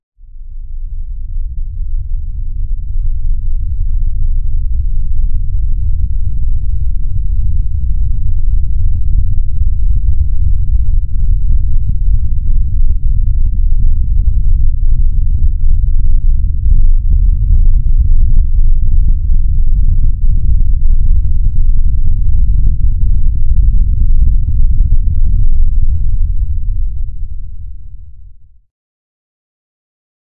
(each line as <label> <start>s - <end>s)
low rumble sound 0.2s - 28.7s